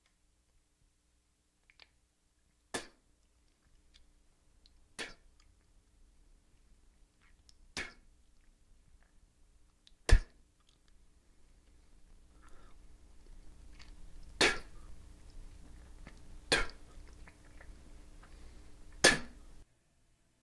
someone spitting 2.7 - 3.0
someone spitting 5.0 - 5.5
someone spitting 7.2 - 8.1
someone spitting 10.0 - 10.4
someone spitting 12.3 - 19.6

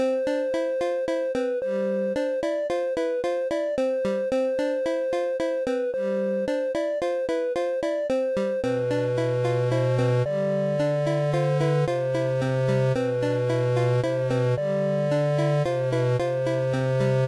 music 0.0 - 17.2

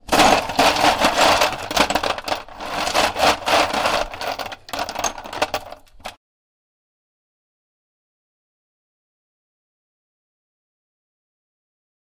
Ice cubes being mixed around in a bowl 0.0 - 6.2

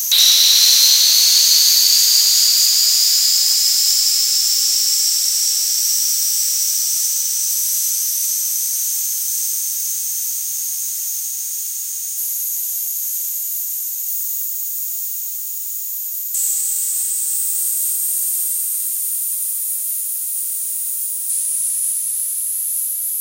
Long noise bursts 0.0 - 8.4
space drone 0.0 - 7.5

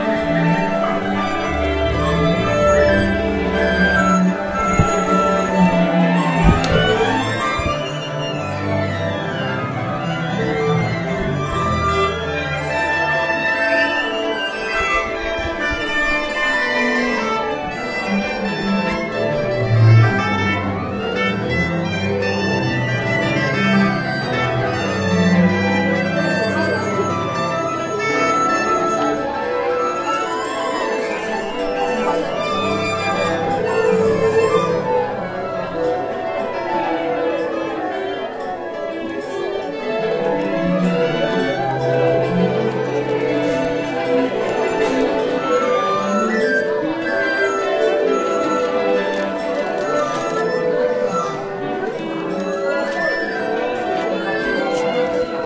people 0.0 - 55.4

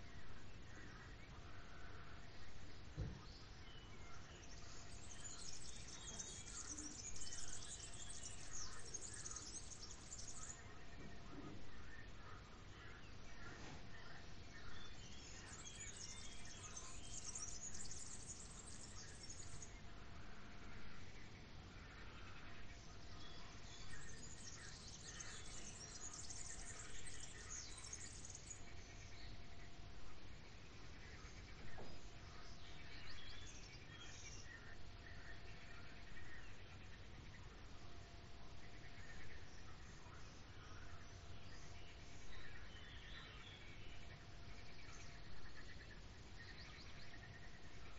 birds are singing 0.0 - 47.9
frogs are croaking 0.0 - 47.9
somebody is working in the background 13.4 - 14.0

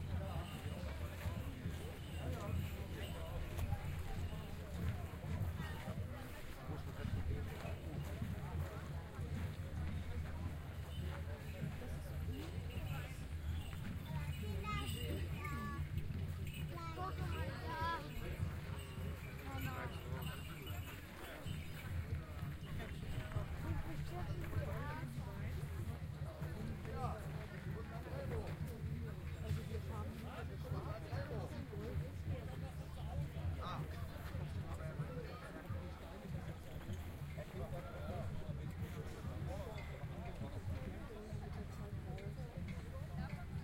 Medieval Crowd 0.0 - 43.6

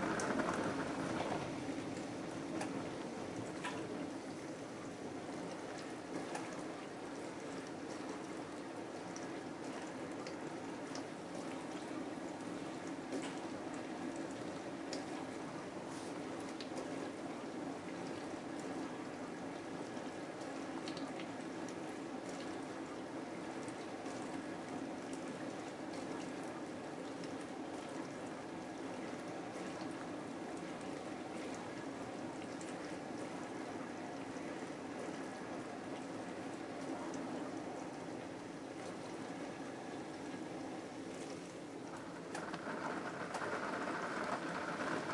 dishwasher working 0.0 - 4.1
dishwasher working 42.0 - 45.1

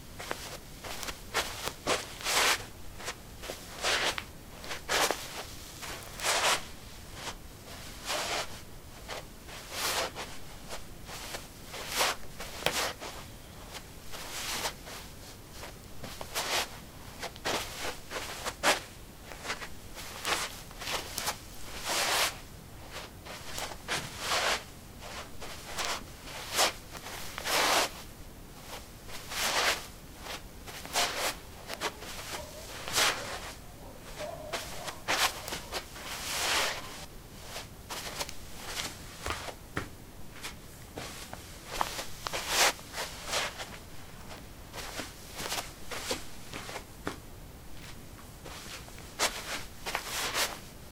Shuffling on carpet 0.0 - 50.9

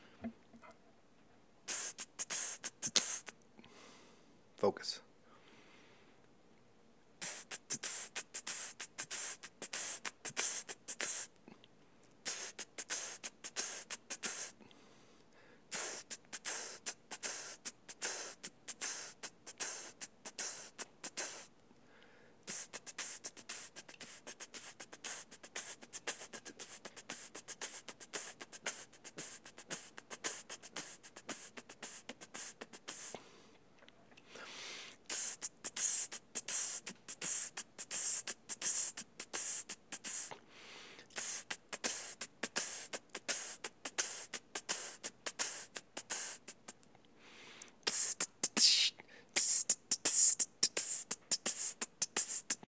hi-hat 1.6 - 3.4
hi-hat 7.2 - 11.4
hi-hat 12.1 - 14.6
hi-hat 15.7 - 21.5
hi-hat 22.4 - 33.2
hi-hat 34.9 - 40.4
hi-hat 41.1 - 46.8
hi-hat 47.6 - 52.6

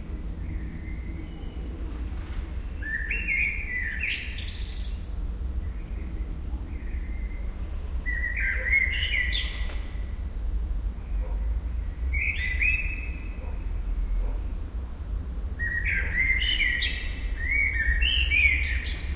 blackbirds 0.0 - 19.1

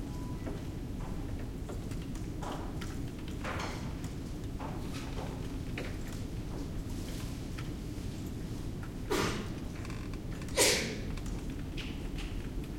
ventilation system 0.0 - 12.7
computer keyboards and mouses 1.2 - 6.6
computer keyboards and mouses 11.1 - 12.7

